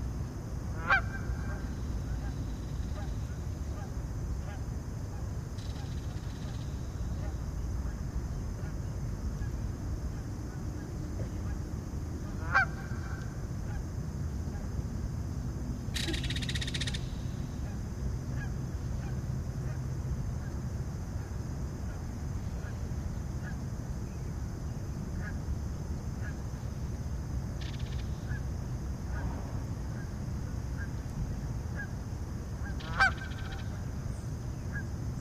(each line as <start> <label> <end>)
0.8 Geese 1.6
12.4 Geese 13.8
32.6 Geese 33.8